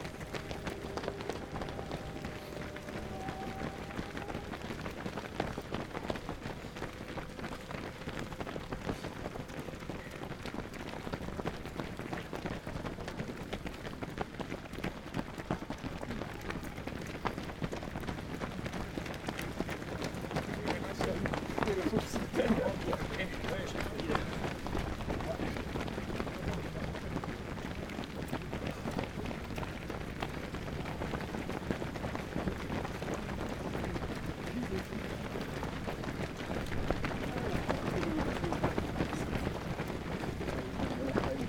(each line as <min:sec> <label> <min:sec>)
0:18.5 Die Läufer des Einsteinmarathon 0:28.2